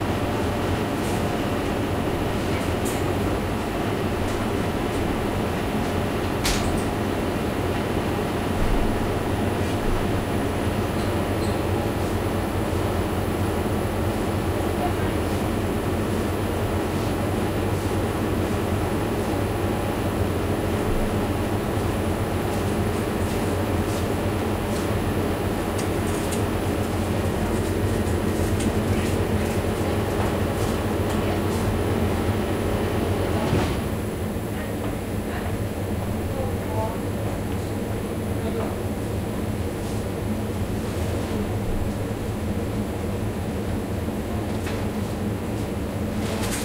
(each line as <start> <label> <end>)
0.0 Hum of the refrigerator 46.6